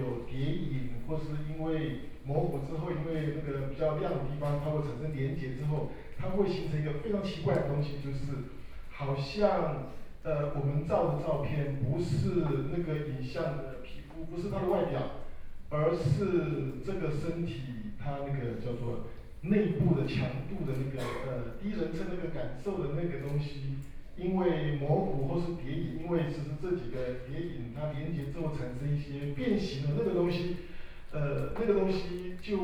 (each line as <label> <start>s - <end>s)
photographer Antoine DAgata lectures 0.0s - 32.6s